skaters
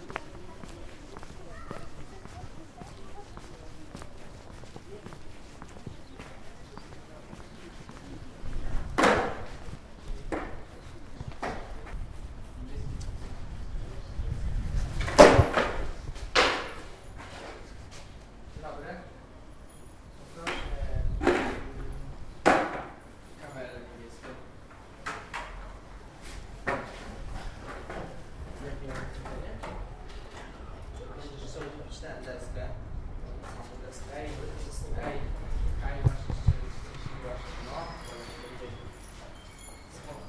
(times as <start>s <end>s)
0.0s 13.6s